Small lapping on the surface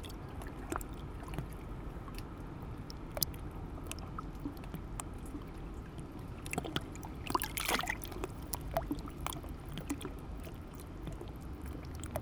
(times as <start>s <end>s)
6.4s 12.2s